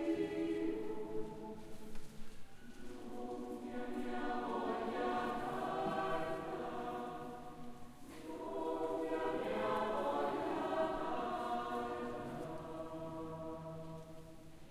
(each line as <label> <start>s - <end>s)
church choir 0.0s - 14.7s